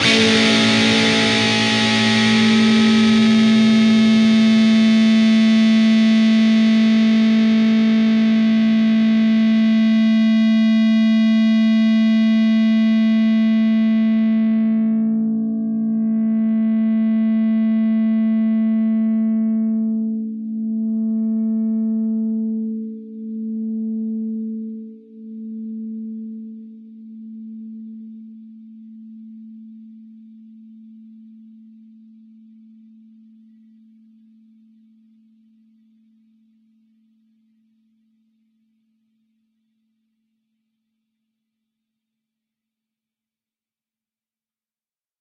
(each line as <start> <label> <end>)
0.0 distorted guitar 20.0